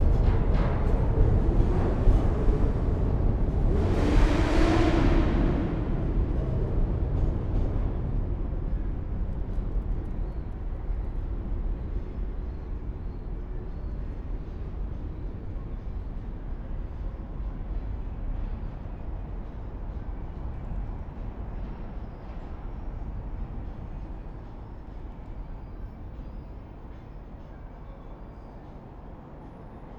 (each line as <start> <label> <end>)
0.0 trains passing 29.9